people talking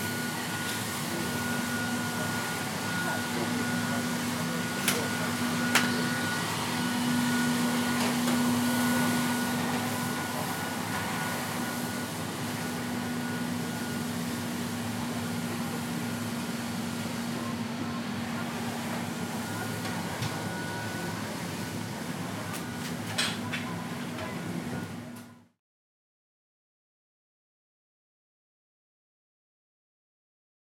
0.4 12.0, 16.8 25.4

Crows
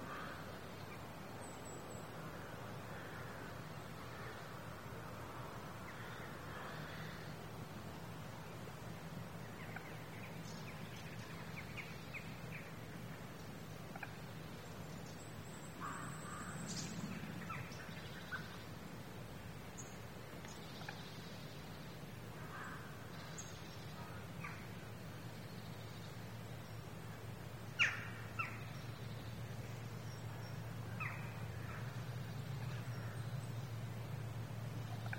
0.0 0.4

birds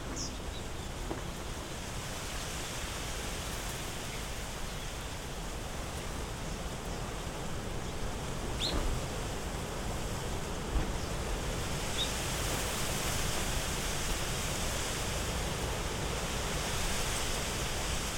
0.0 1.9, 3.4 12.7

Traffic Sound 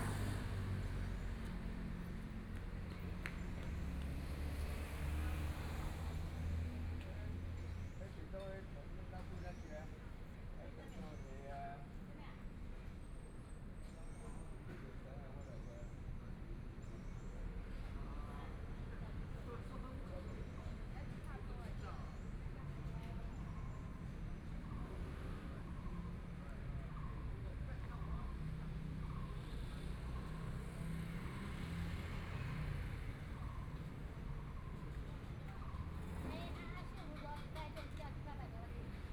0.0 10.5, 18.6 39.1

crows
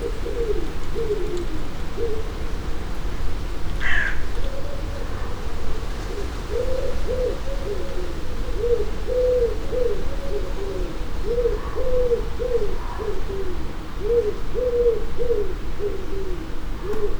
3.8 5.4

